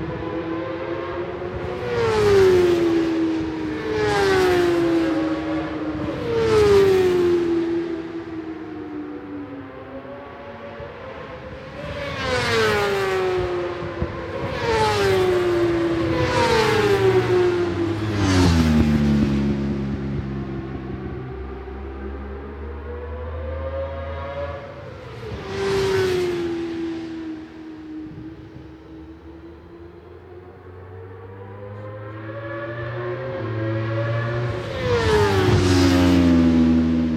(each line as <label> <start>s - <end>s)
supersports 600s 0.0s - 37.1s